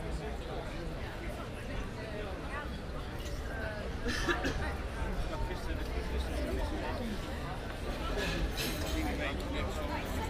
0.0s wind 10.2s

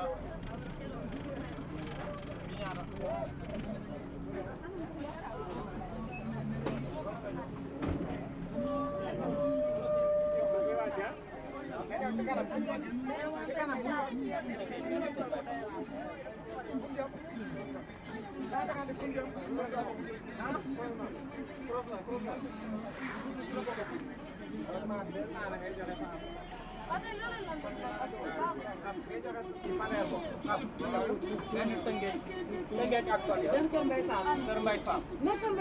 0.0s bus 35.6s

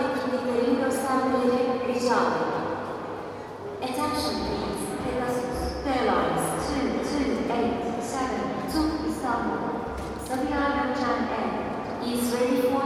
3.8s airport announcements 12.8s

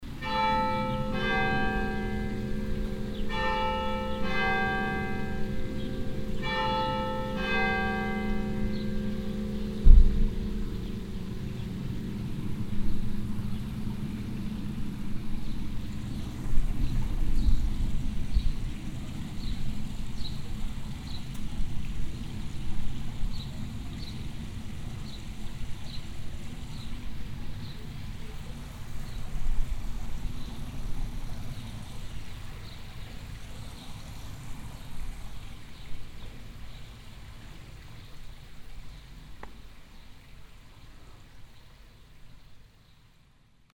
0.0s private garden fountain 43.7s

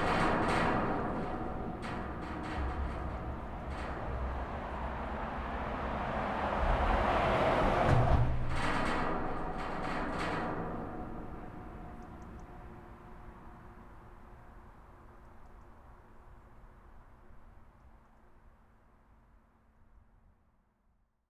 0.0s Passage of cars on the bridge 19.8s

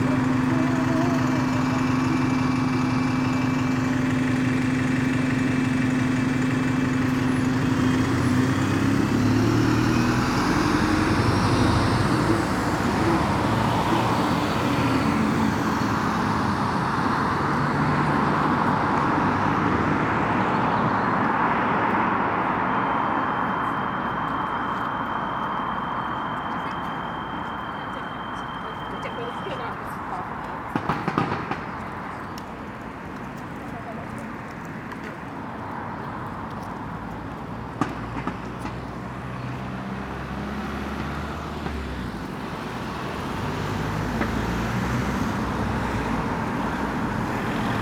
0.0s Fathers push buggies 9.0s
22.8s Fathers push buggies 37.8s

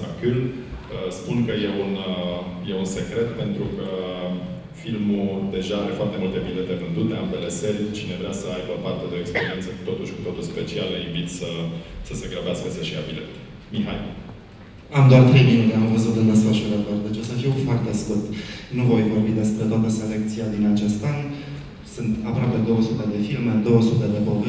0.0s voices of the festival director 24.4s

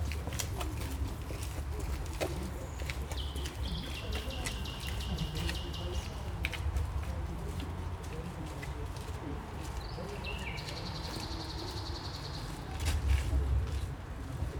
3.1s song of a nightingale 6.1s

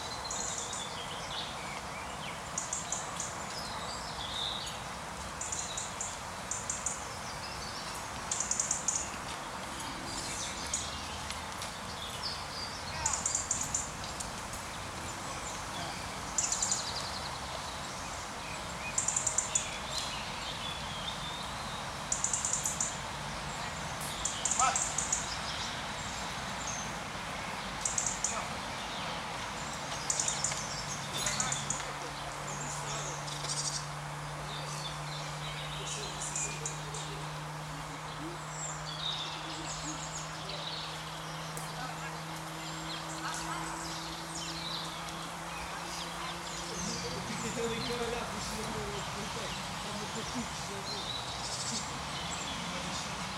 0.0s birds 53.3s
0.0s cars 53.3s

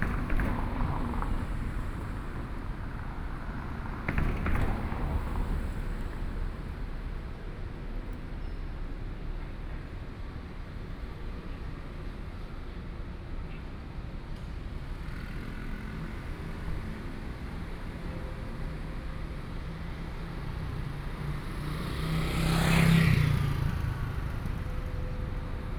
0.0s Traffic Sound 11.8s
16.8s Traffic Sound 25.7s

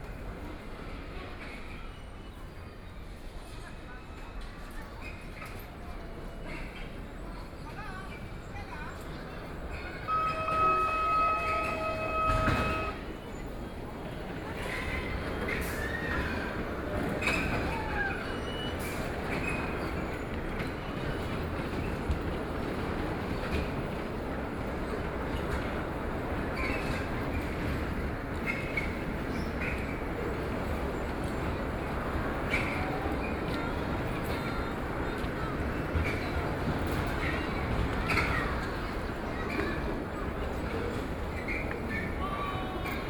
0.0s Crowd 43.0s

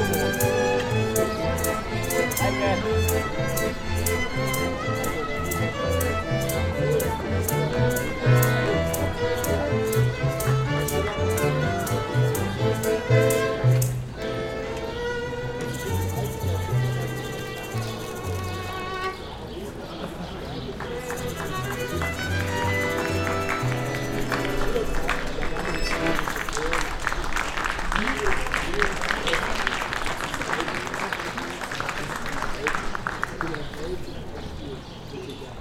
0.0s horse carriage 14.9s
0.0s street music 30.3s
0.0s city tour lecture 35.6s
0.0s people 35.6s
15.6s horse carriage 27.0s

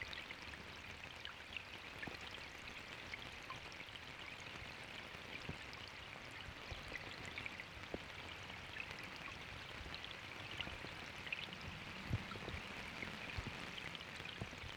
10.0s rain shower 14.7s

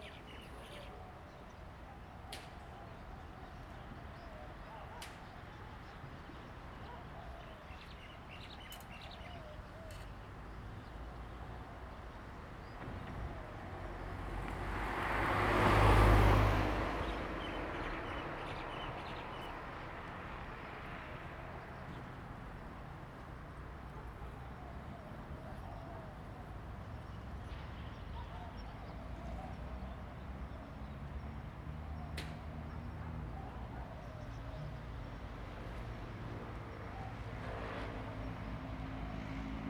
0.0s Birds singing 11.1s
9.8s Traffic Sound 39.6s

